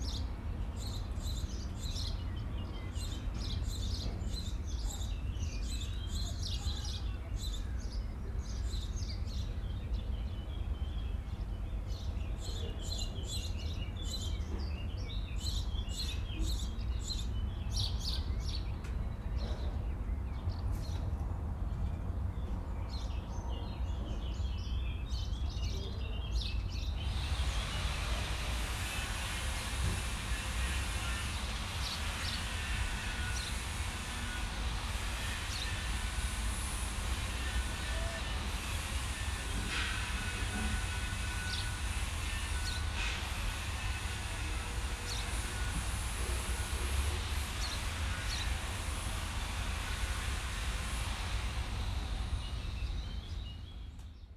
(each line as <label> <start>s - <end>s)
hum of the city 0.0s - 54.3s
metalworkers 27.0s - 52.4s